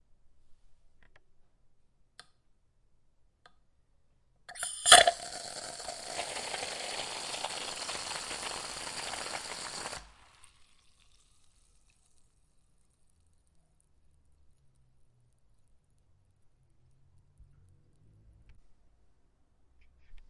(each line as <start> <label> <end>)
4.5 Sirviendo soda en un vaso de vidrio 13.5